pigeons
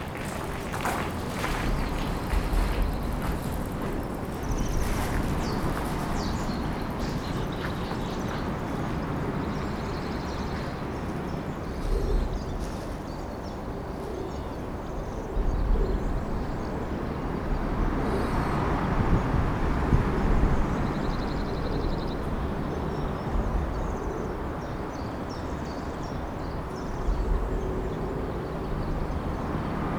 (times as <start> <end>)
0.0 16.1